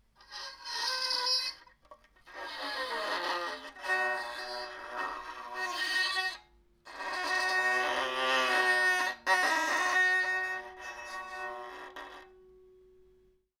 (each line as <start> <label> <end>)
2.4 Bowing broken violin string 12.3